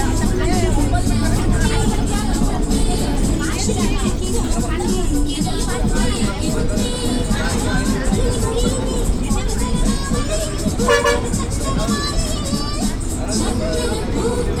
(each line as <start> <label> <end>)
0.0 private bus with music 14.6